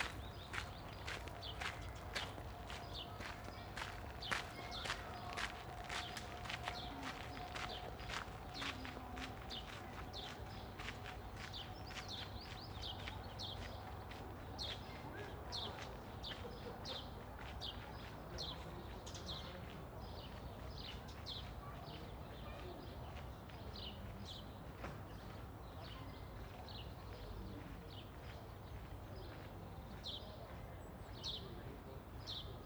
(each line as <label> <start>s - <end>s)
cyclists on gravel 0.0s - 11.7s
Passing walkers 0.0s - 31.5s